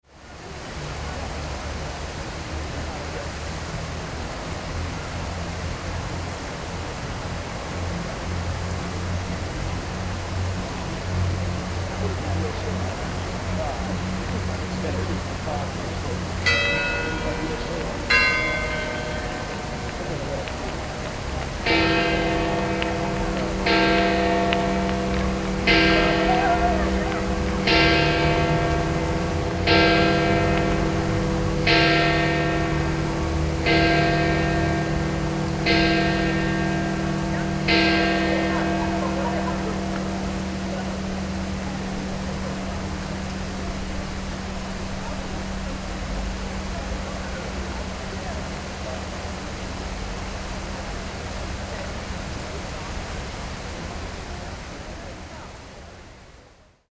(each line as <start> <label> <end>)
0.0 fountain 56.9
13.2 bells 48.6